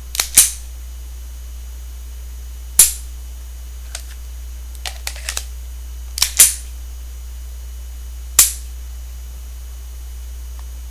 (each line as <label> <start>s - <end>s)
magazine removal/insertion 0.1s - 0.6s
Colt 45 Handling 3.9s - 4.2s
magazine removal/insertion 3.9s - 4.2s
Colt 45 Handling 4.8s - 5.5s
magazine removal/insertion 4.8s - 5.5s
magazine removal/insertion 6.2s - 6.6s
Colt 45 Handling 6.2s - 6.6s